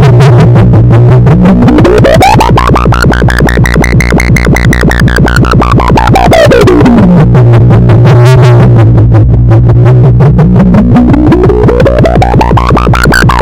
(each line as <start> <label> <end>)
0.0 wub 13.4